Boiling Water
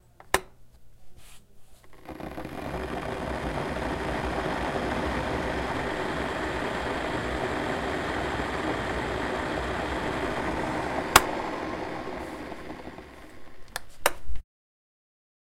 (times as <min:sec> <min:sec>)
0:01.9 0:13.8